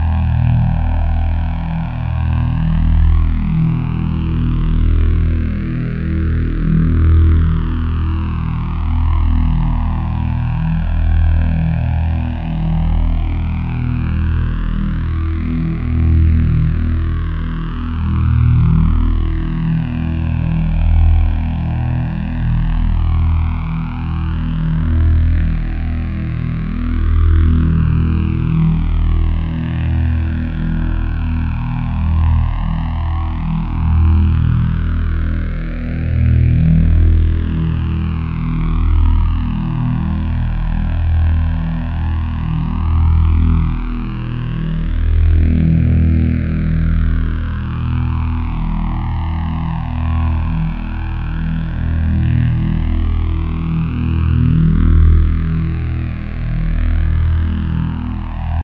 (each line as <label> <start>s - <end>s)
Saber humming 7.9s - 58.6s